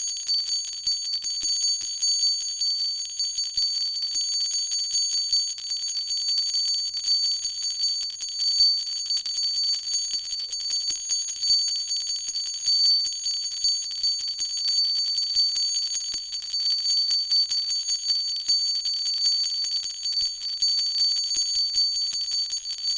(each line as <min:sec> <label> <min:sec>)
0:00.0 small metal bell 0:22.9